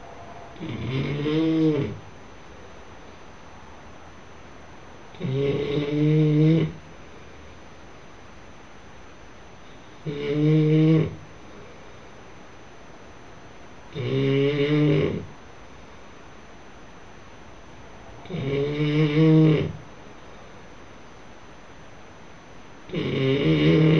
0.6s snoring friend 2.0s
5.2s snoring friend 6.8s
10.0s snoring friend 11.2s
13.9s snoring friend 15.3s
18.2s snoring friend 19.8s
22.9s snoring friend 23.9s

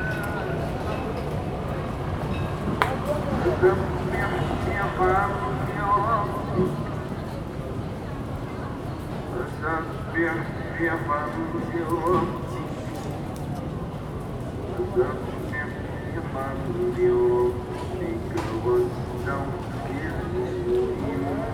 2.4s Singing of a Prayer 7.6s

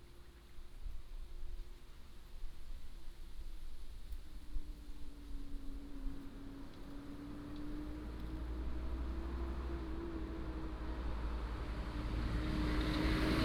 5.9s traffic sound 13.4s

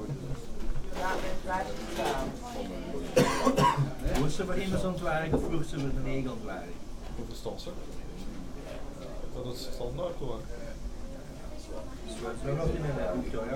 0.0s people are ordering 6.0s
0.0s people are eating 13.5s

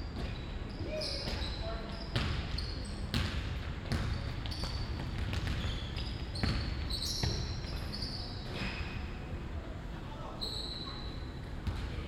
0.0s constant noise from the ventilation system 12.0s
0.2s squeaking shoes 3.1s
3.9s squeaking shoes 9.1s
10.4s squeaking shoes 11.3s

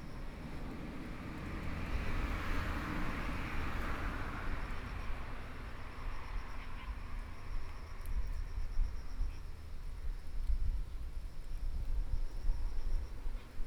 0.0s Traffic Sound 7.6s

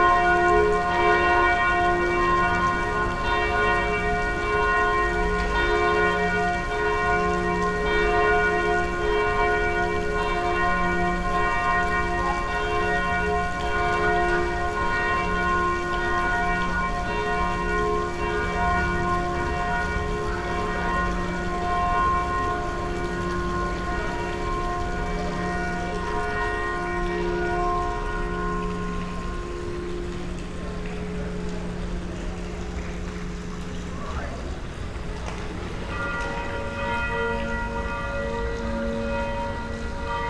0.0s curch bells 32.2s
35.8s curch bells 40.2s

